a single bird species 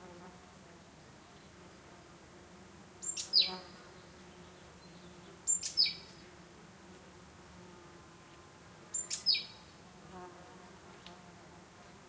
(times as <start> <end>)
3.0 3.7, 5.5 6.2, 8.9 9.6